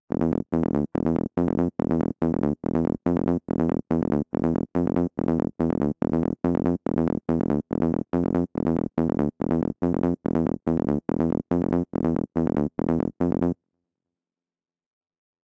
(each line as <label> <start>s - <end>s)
Psy Bass 0.1s - 13.6s